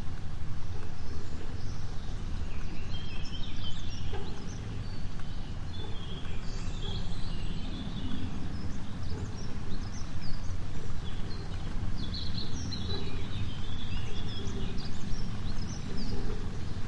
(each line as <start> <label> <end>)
0.0 birds 16.8
0.0 cableway 16.8
0.0 stream 16.8